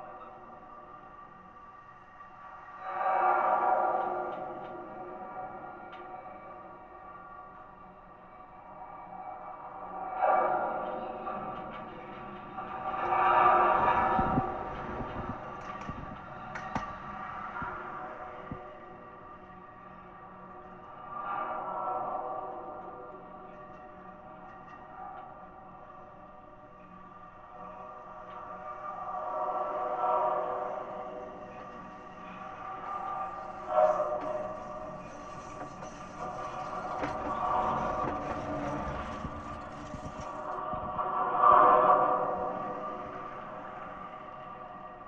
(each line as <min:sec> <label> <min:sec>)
0:32.3 tram pole 0:41.0